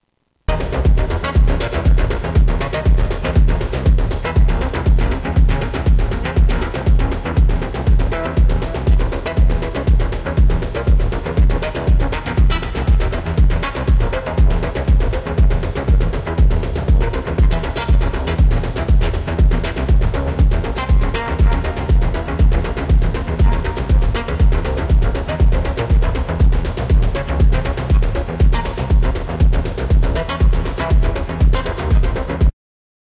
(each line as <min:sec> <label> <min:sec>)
0:00.5 Distorted Tape techno 0:32.5